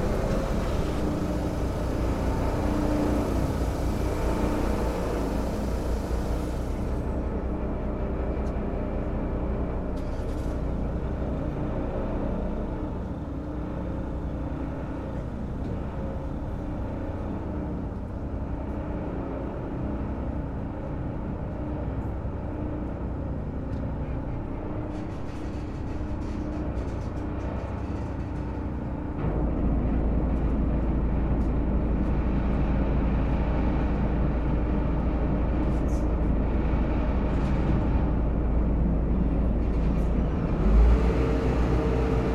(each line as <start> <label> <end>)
0.0 Car and passenger ferry 42.3